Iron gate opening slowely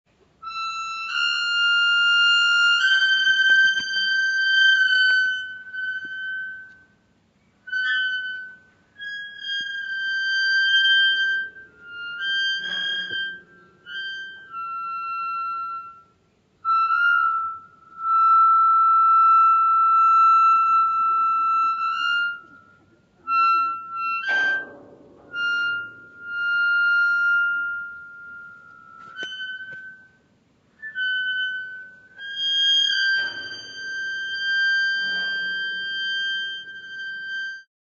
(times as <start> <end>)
7.8 16.0, 21.0 30.2, 30.8 37.7